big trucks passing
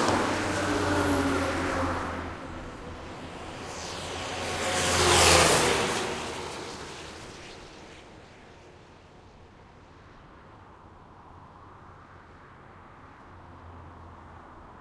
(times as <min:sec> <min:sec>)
0:00.0 0:08.2